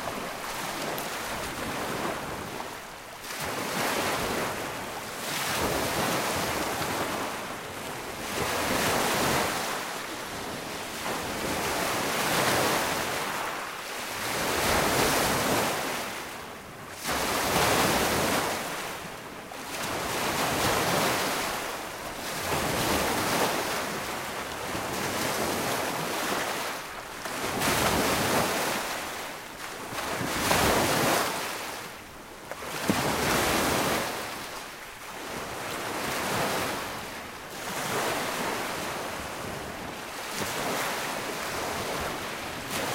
0.0s Waves 42.9s

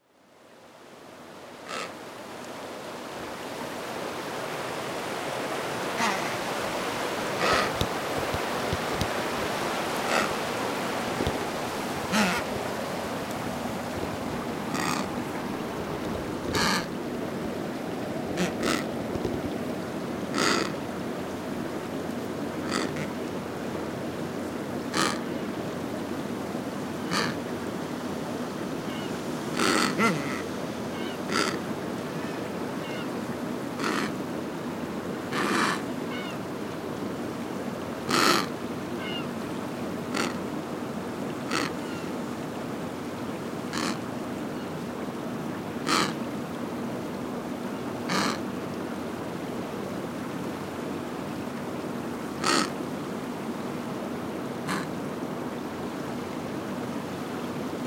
1.7s Penguin 1.9s
6.0s Penguin 6.4s
7.4s Penguin 9.1s
10.1s Penguin 10.4s
12.1s Penguin 12.5s
14.7s Penguin 15.2s
16.5s Penguin 16.9s
18.4s Penguin 19.4s
25.0s Penguin 25.2s
27.1s Penguin 27.4s
29.6s Penguin 30.4s
31.3s Penguin 31.6s
33.8s Penguin 34.1s
38.1s Penguin 38.5s
40.1s Penguin 40.4s
41.5s Penguin 42.0s
43.7s Penguin 44.0s
45.9s Penguin 46.2s
48.1s Penguin 48.4s
52.4s Penguin 52.7s
54.7s Penguin 54.9s

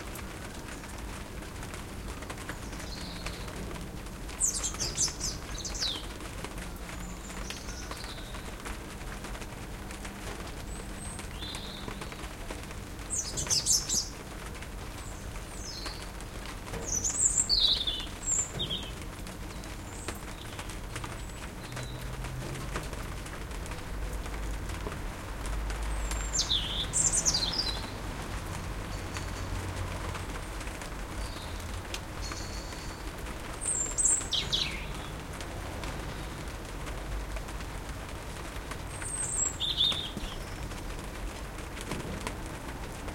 0.0s rain 43.1s
0.0s traffic passing 43.1s

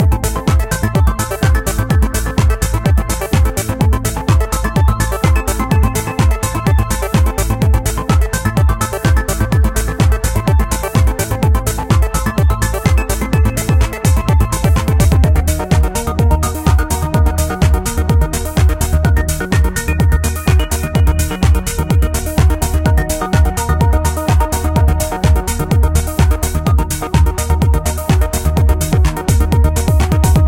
0.0s arpeggios 30.4s

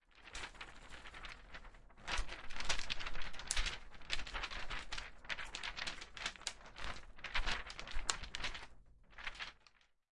0.1s paper sheets flapping with the wind 10.0s

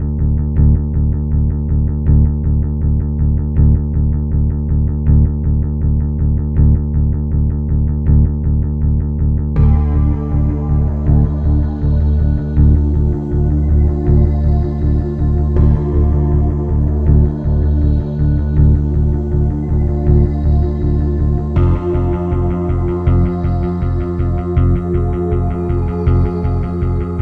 0.0s Finger Bass 27.2s
0.0s Guitar 27.2s
9.5s Ethereal Pad 27.2s
9.6s Cymbal 27.2s

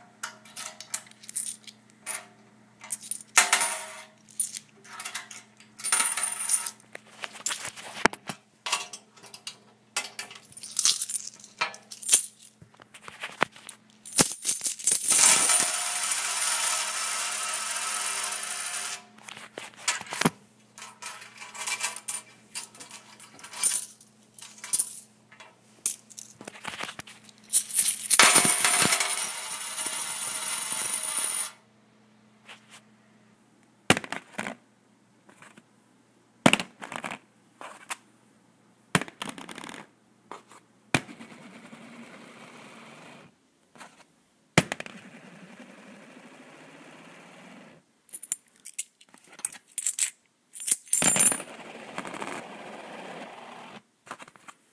5.8s d2's (coins) rolling on various surfaces 6.8s
14.1s d2's (coins) rolling on various surfaces 19.1s
27.5s d2's (coins) rolling on various surfaces 31.6s
41.1s d2's (coins) rolling on various surfaces 43.3s
44.7s d2's (coins) rolling on various surfaces 47.8s
50.6s d2's (coins) rolling on various surfaces 53.8s

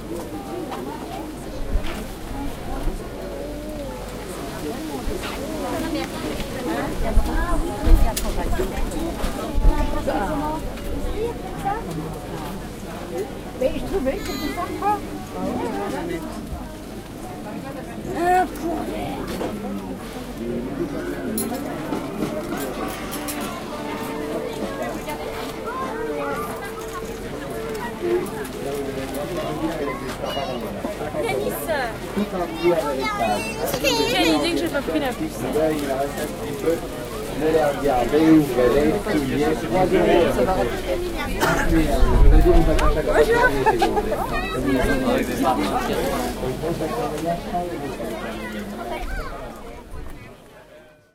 0.0s Voices 50.9s

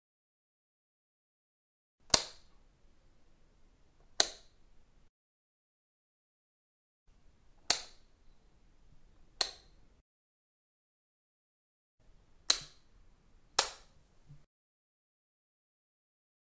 2.1s light switch 2.5s
4.1s light switch 4.6s
7.6s light switch 8.1s
9.4s light switch 9.8s
12.4s light switch 12.9s
13.6s light switch 14.0s

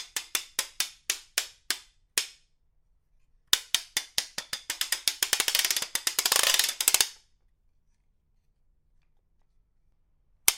4.0s ratcheting noisemaker 7.2s

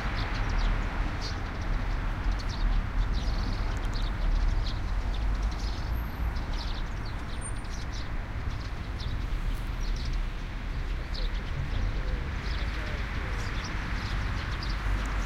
0.0s Suburban traffic 15.2s
0.0s birds on trees 15.2s

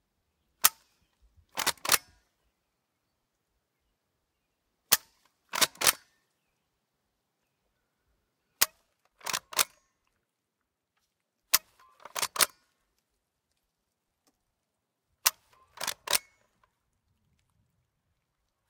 0.6s Cocking and dry-firing a 1873 Winchester rifle 2.3s
4.9s Cocking and dry-firing a 1873 Winchester rifle 6.2s
8.5s Cocking and dry-firing a 1873 Winchester rifle 9.9s
11.5s Cocking and dry-firing a 1873 Winchester rifle 12.6s
15.2s Cocking and dry-firing a 1873 Winchester rifle 16.7s

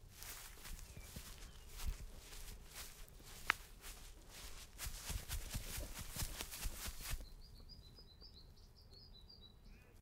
0.0s Footsteps grass 7.3s

